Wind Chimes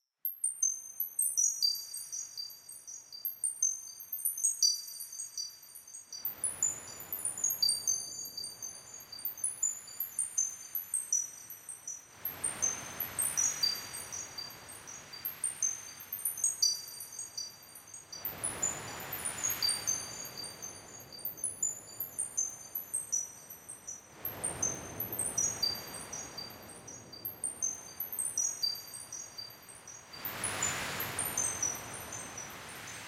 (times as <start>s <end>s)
12.4s 33.0s